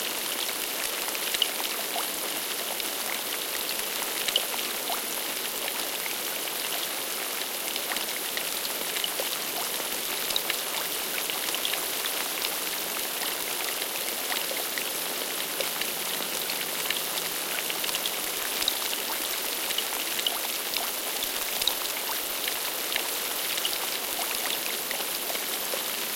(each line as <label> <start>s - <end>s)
Light rain on surface of a lake 0.0s - 26.1s